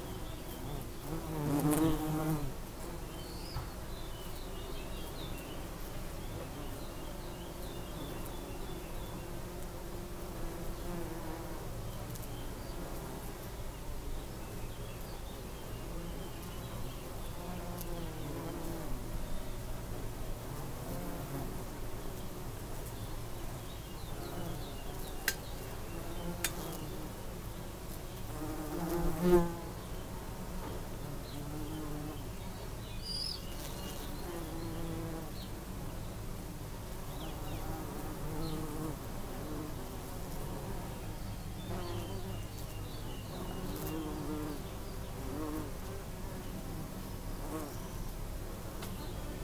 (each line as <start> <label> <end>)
0.0 bumble bees in a lavender bush 49.4